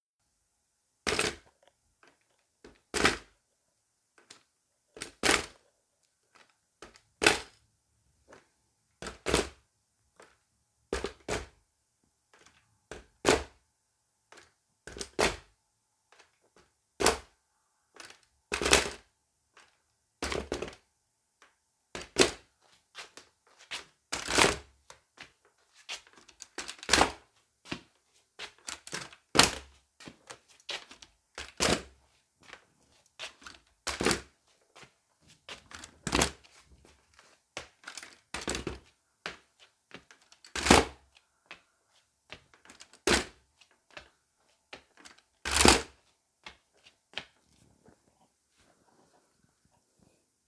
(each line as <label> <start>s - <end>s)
Zimmer Walker Frame on wooden floor 1.0s - 3.5s
Zimmer Walker Frame on wooden floor 4.1s - 11.6s
Zimmer Walker Frame on wooden floor 12.2s - 13.6s
Zimmer Walker Frame on wooden floor 14.2s - 50.4s
slippered footsteps 32.4s - 40.4s